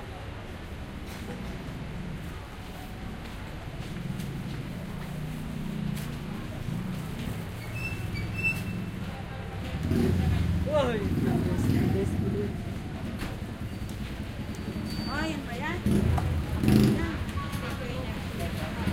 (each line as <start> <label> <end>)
0.0 car 18.9
0.0 jeepney 18.9
1.1 motorcycle 18.9
2.6 Walking 9.8
5.9 crowd 18.9